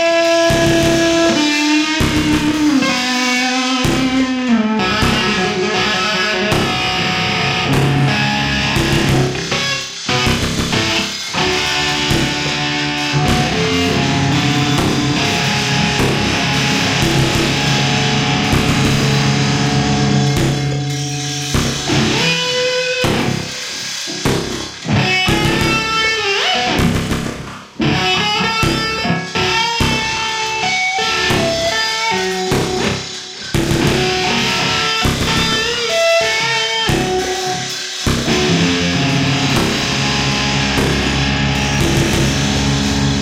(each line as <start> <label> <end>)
0.0 electric guitar 43.2
0.4 electronics 43.2